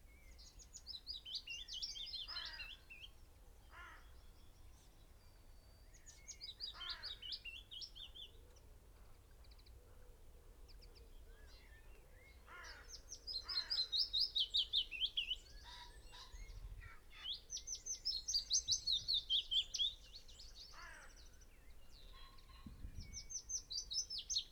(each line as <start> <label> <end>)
0.2 blackbird 4.9
5.8 blackbird 9.8
10.7 blackbird 24.5
22.0 red-legged partridge 23.4